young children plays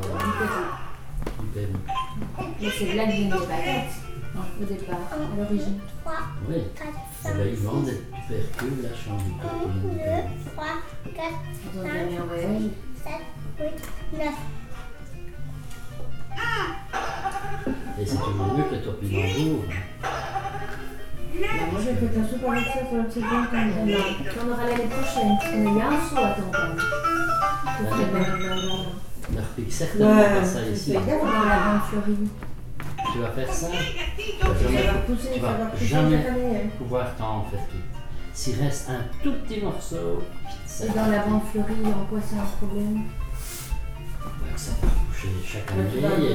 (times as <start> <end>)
0.0 1.1, 16.2 21.7